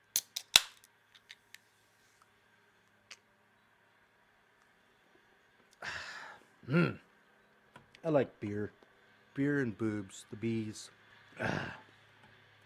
Male saying 0:08.0 - 0:08.8
Male saying 0:09.4 - 0:11.6

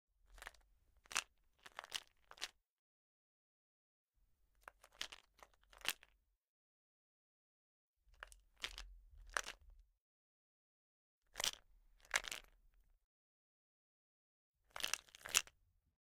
plastic bottle of medication pills being rattled 0:00.3 - 0:02.5
plastic bottle of medication pills being rattled 0:04.6 - 0:06.2
plastic bottle of medication pills being rattled 0:08.2 - 0:09.6
plastic bottle of medication pills being rattled 0:11.4 - 0:12.6
plastic bottle of medication pills being rattled 0:14.7 - 0:15.6

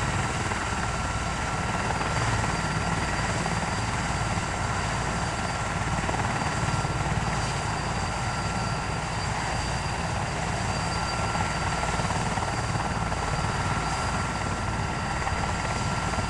helicopter 0:00.0 - 0:16.2

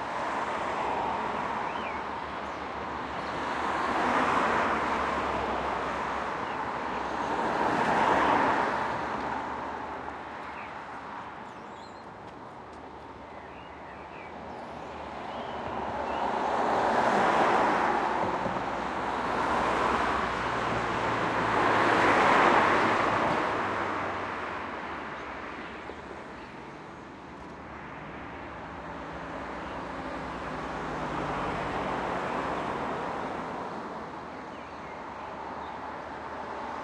cars pass by 0:00.0 - 0:36.8
birds 0:01.4 - 0:04.4
birds 0:10.4 - 0:17.6
people walk 0:11.8 - 0:13.3

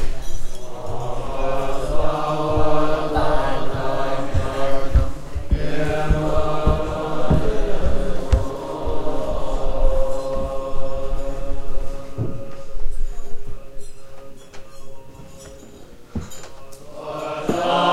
monks morning meditation prayer ritual 0:00.0 - 0:17.9

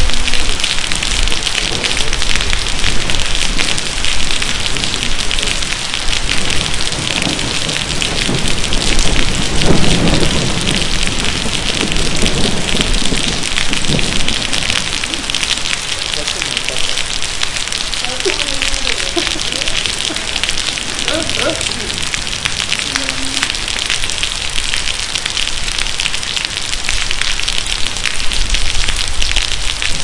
rain 0:00.0 - 0:30.0
storm with somw thunders 0:00.0 - 0:30.0
voces 0:17.9 - 0:22.0
voces 0:22.8 - 0:23.6

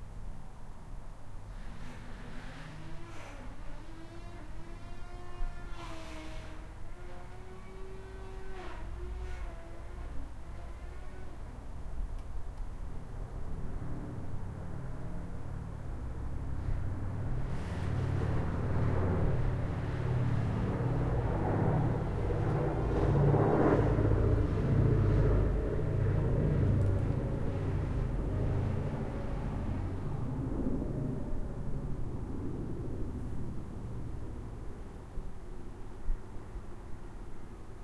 B17 Flying Fortress 0:13.0 - 0:37.8

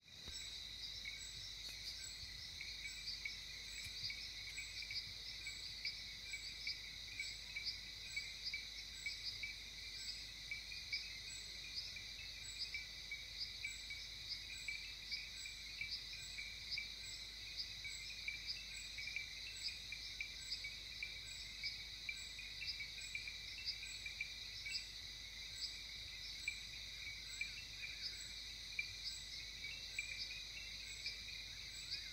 Birds 0:00.0 - 0:32.1
Frogs 0:00.0 - 0:32.1

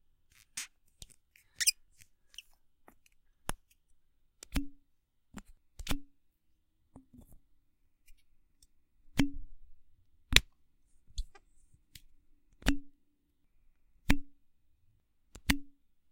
squeak 0:01.6 - 0:02.5

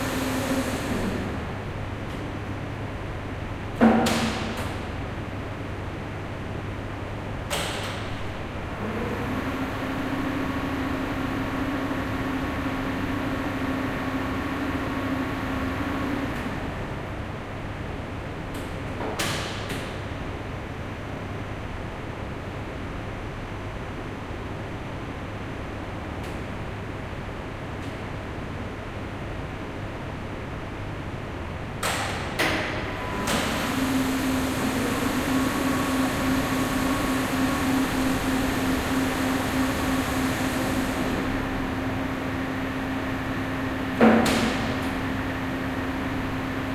two motors for two lifts 0:31.8 - 0:46.7

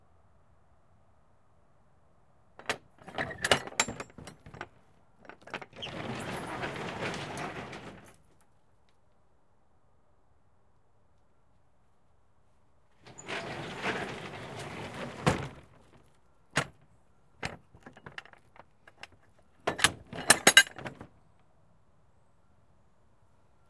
Release latch 0:02.6 - 0:04.7
lock latch 0:02.6 - 0:04.7
Transport truck roll up door open - close 0:02.6 - 0:08.3
lock latch 0:05.3 - 0:08.1
Transport truck roll up door open - close 0:13.0 - 0:21.1
Release latch 0:17.4 - 0:21.1
lock latch 0:17.4 - 0:21.1

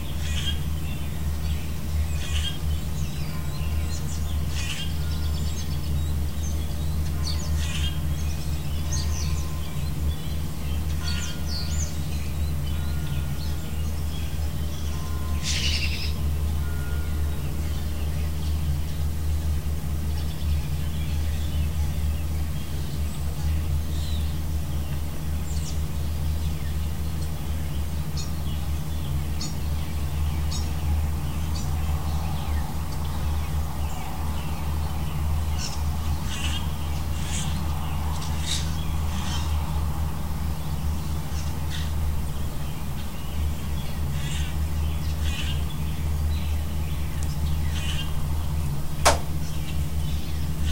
robin 0:00.0 - 0:50.7
church bell 0:03.1 - 0:06.0
church bell 0:06.6 - 0:18.8

